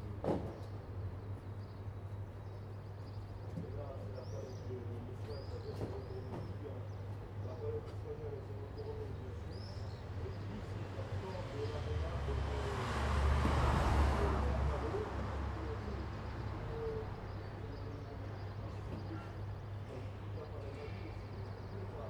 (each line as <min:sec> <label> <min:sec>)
0:00.0 morning traffic 0:22.0
0:00.0 birds 0:22.0
0:03.5 speech 0:22.0